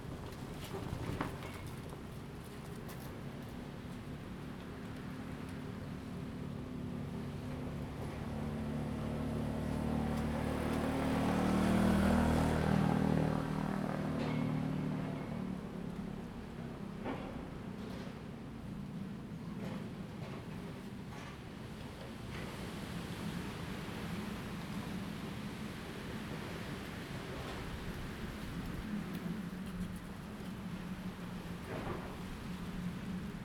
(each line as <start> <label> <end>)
13.9 Construction 22.6